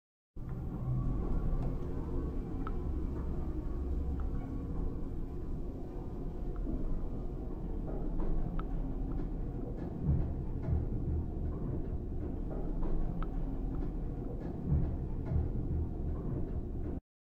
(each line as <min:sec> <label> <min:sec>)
0:00.4 Lift noise 0:17.0